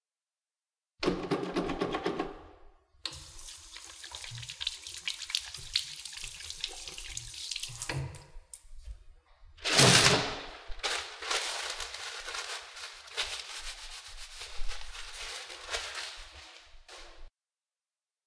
hand washing 0:03.0 - 0:08.8
paper towel trashing 0:09.6 - 0:17.3

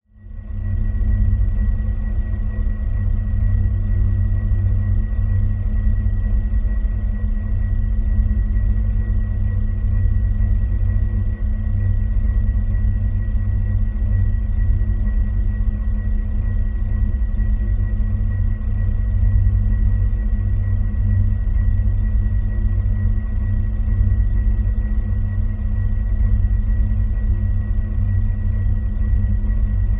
internal vibrations of a busted carbon monoxide fan 0:00.0 - 0:29.9

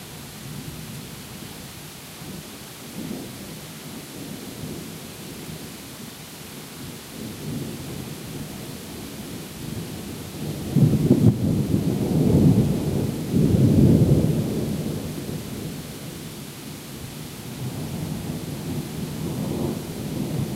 Heavy Rain 0:00.0 - 0:20.5
Thunder 0:10.4 - 0:15.5

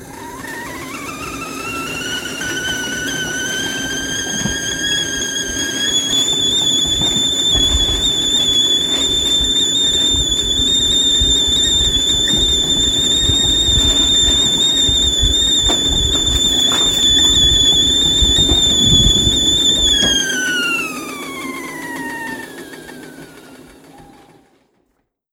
short kettle whistle 0:00.0 - 0:24.5

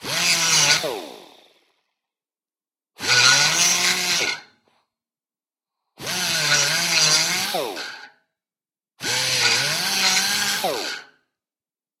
straight die grinder grinding steel 0:00.1 - 0:00.9
straight die grinder grinding steel 0:03.0 - 0:04.5
straight die grinder grinding steel 0:06.0 - 0:08.2
straight die grinder grinding steel 0:09.0 - 0:11.1

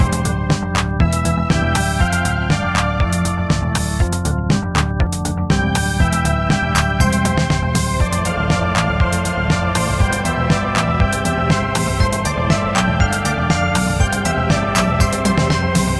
organ 0:00.0 - 0:15.9
synth 0:00.0 - 0:15.9

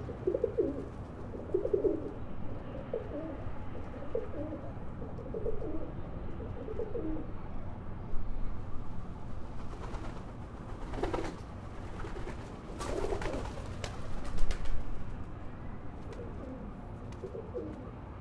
pigeon 0:00.0 - 0:07.3
pigeon 0:10.8 - 0:14.6
pigeon 0:16.0 - 0:18.0

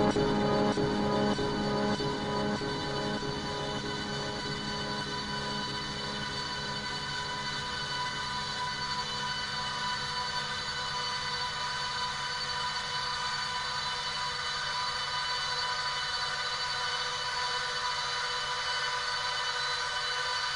drone 0:00.0 - 0:11.7

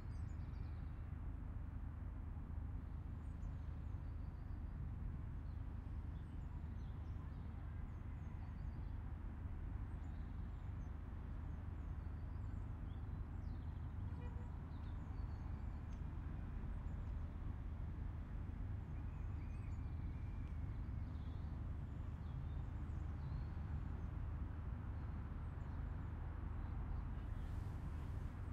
aircraft 0:00.0 - 0:28.5

